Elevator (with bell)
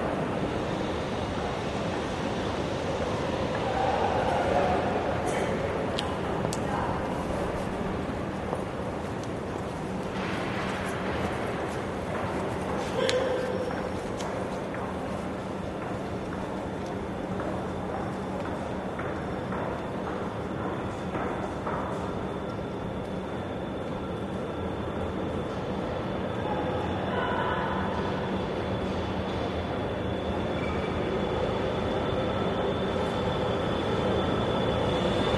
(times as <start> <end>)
14.9 35.3